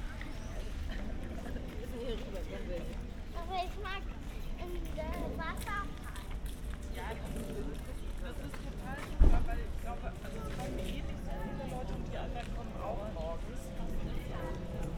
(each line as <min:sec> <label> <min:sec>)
0:00.0 people passing-by 0:14.9